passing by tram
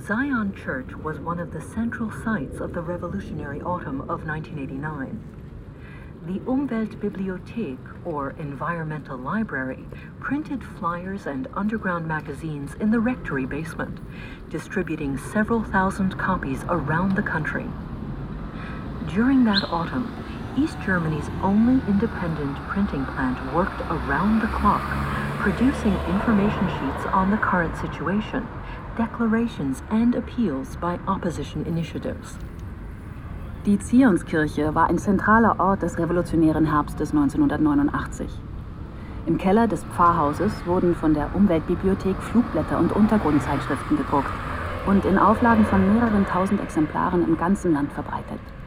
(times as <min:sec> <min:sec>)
0:14.9 0:48.6